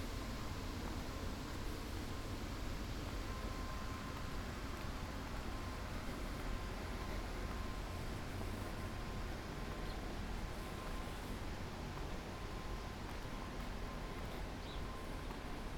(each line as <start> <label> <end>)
3.0 Walking 15.7